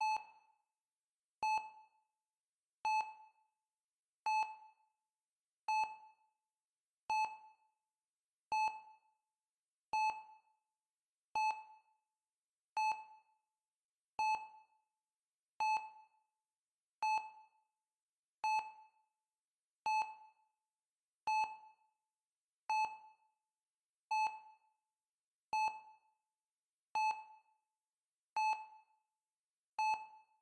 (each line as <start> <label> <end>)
18.4 heart rate monitor 18.9
19.9 heart rate monitor 20.4
24.1 heart rate monitor 24.6
27.0 heart rate monitor 27.2
29.8 heart rate monitor 30.3